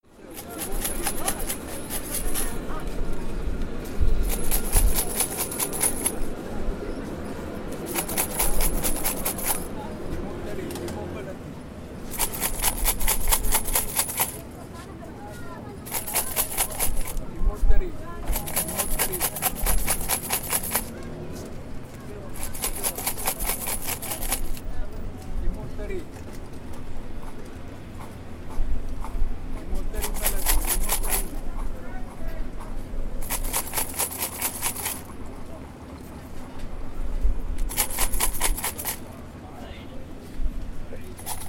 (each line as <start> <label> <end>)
0.2 Female beggar shakes her coins' box 2.8
4.2 Female beggar shakes her coins' box 6.3
7.8 Female beggar shakes her coins' box 9.7
12.1 Female beggar shakes her coins' box 14.5
15.8 Female beggar shakes her coins' box 17.2
18.2 Female beggar shakes her coins' box 21.0
22.3 Female beggar shakes her coins' box 24.7
29.8 Female beggar shakes her coins' box 31.4
33.2 Female beggar shakes her coins' box 35.2
37.6 Female beggar shakes her coins' box 39.0
41.0 Female beggar shakes her coins' box 41.4